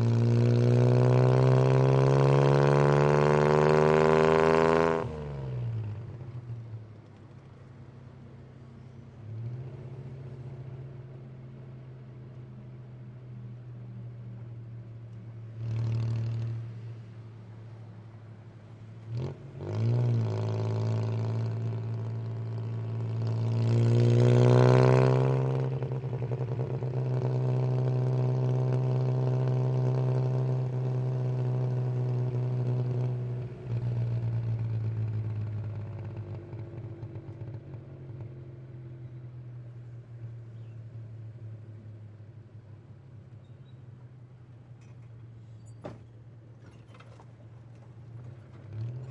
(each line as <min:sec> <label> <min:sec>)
0:19.1 Tuktuk exhaust pipe 0:41.2